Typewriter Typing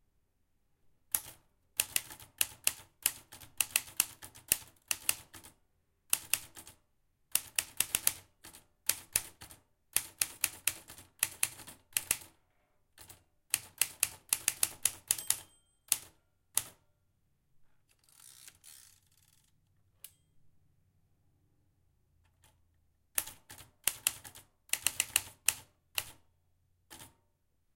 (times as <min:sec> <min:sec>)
0:01.1 0:05.5, 0:06.1 0:12.3, 0:13.0 0:16.8, 0:23.2 0:26.2, 0:26.9 0:27.2